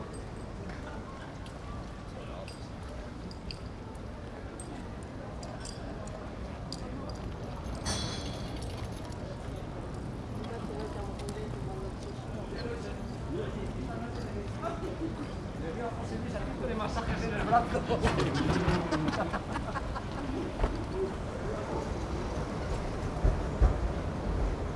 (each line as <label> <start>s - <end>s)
people near transport band 0.0s - 24.7s